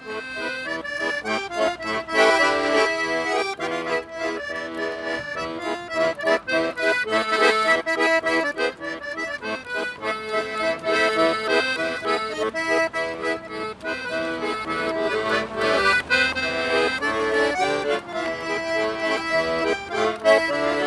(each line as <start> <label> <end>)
0.0 plays accordion 20.8